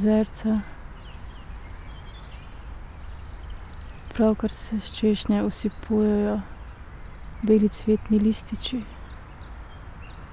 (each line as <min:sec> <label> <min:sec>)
0:00.0 spoken words 0:00.7
0:04.1 spoken words 0:06.5
0:07.4 spoken words 0:08.9